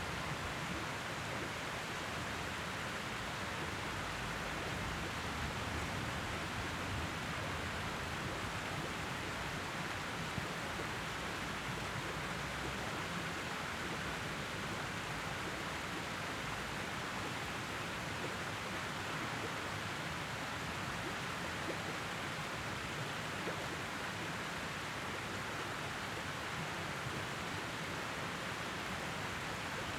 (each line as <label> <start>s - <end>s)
fountain city stream 0.0s - 29.9s